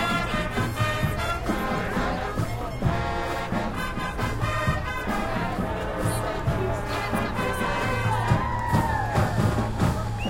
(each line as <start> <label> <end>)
0.0 band 10.2